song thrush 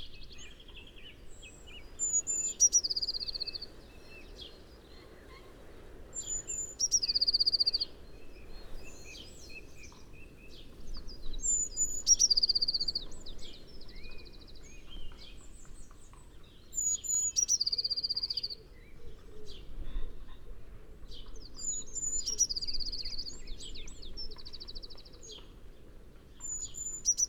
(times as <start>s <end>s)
0.0s 19.7s, 26.4s 27.2s